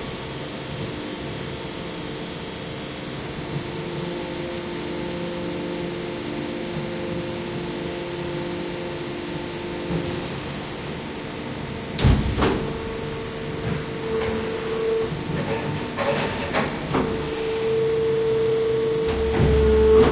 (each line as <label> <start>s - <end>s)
working injection molding machine 4.5s - 20.1s